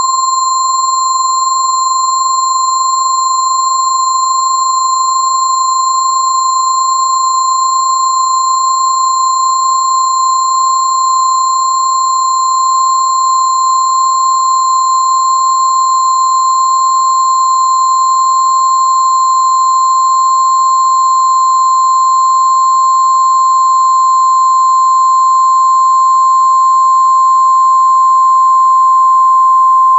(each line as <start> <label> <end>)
0.0 sine wave intended as a bell pad 29.9